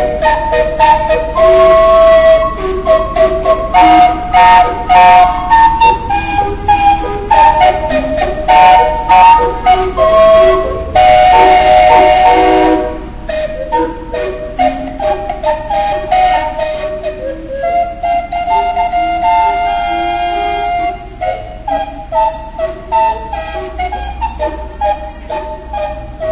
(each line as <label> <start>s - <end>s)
mobile steam calliope 0.0s - 26.3s
sweeping noise of two city street cleaners 0.0s - 26.3s